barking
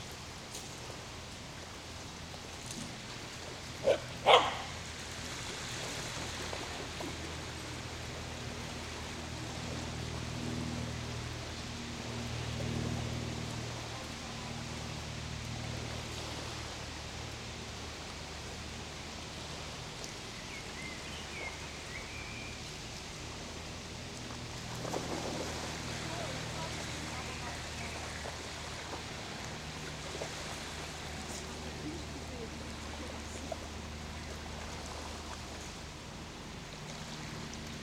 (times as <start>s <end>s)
3.8s 4.8s